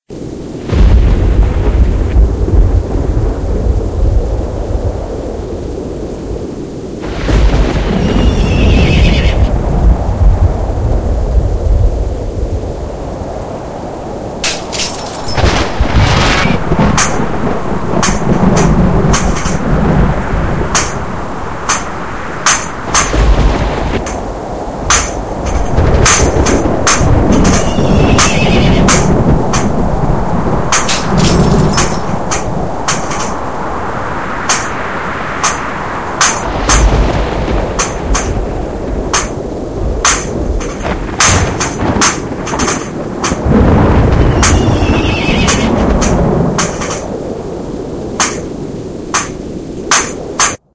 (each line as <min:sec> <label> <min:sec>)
0:00.1 Wind Rising 0:50.6
0:00.5 Thunder 0:48.6
0:14.4 Glass Smash 0:15.7
0:30.8 Glass Smash 0:32.2